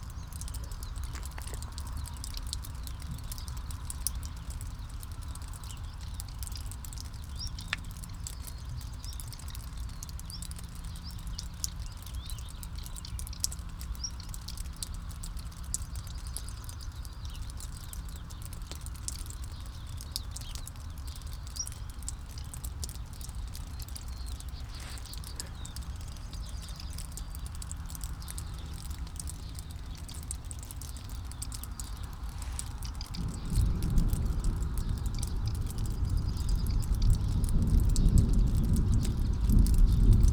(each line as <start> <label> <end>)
0.0 dripping water 40.3
0.0 birds 40.3
33.1 storm 40.3